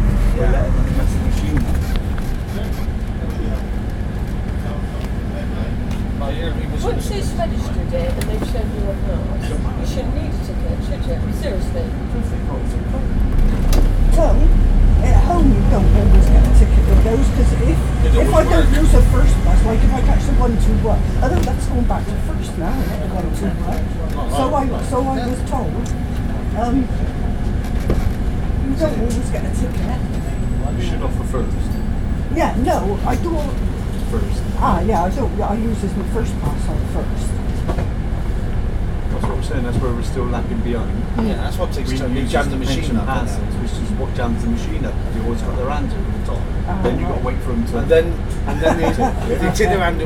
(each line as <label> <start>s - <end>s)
West country holidaymakers discussing buses 0.0s - 50.0s
ambient bus noise 0.0s - 50.0s